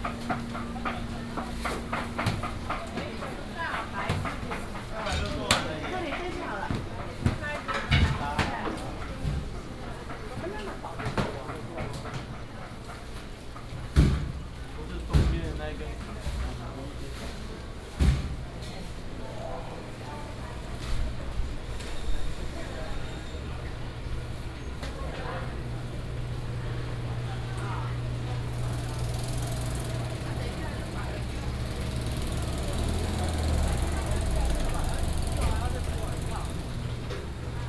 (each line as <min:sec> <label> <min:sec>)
0:00.0 walking 0:08.2